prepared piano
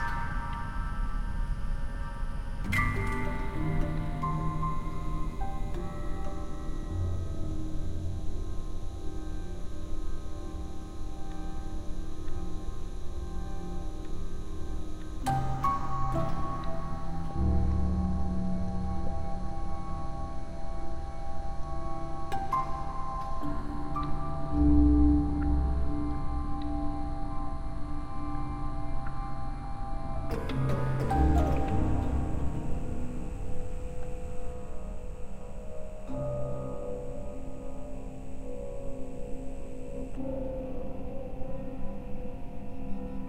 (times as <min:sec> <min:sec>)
0:30.3 0:35.0